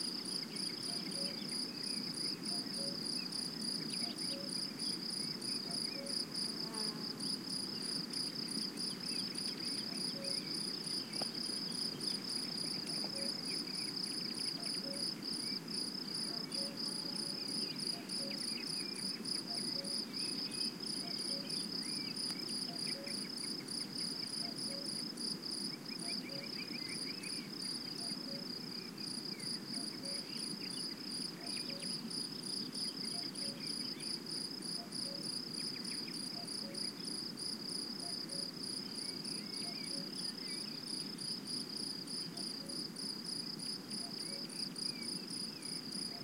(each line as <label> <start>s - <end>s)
Crickets singing 0.0s - 46.2s
other insects in background 0.0s - 46.2s
cuckoo 0.5s - 1.9s
cuckoo 2.5s - 4.7s
cuckoo 5.6s - 6.3s
cuckoo 9.3s - 11.3s
cuckoo 12.4s - 15.2s
cuckoo 16.2s - 23.5s
cuckoo 24.3s - 25.0s
cuckoo 26.0s - 28.5s
cuckoo 29.7s - 30.8s
cuckoo 31.4s - 32.0s
cuckoo 33.0s - 34.1s
cuckoo 34.8s - 37.1s
cuckoo 38.0s - 38.5s
cuckoo 39.3s - 40.7s
cuckoo 42.3s - 42.8s
cuckoo 44.0s - 45.1s